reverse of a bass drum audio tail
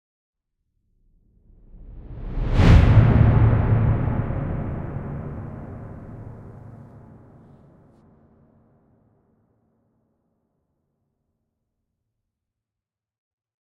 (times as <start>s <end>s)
1.6s 7.6s